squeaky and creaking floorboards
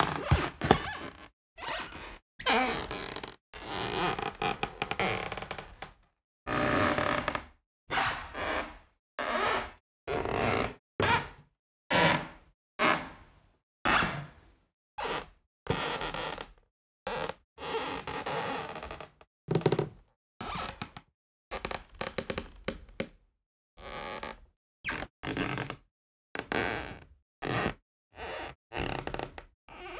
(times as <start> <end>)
0.0 5.9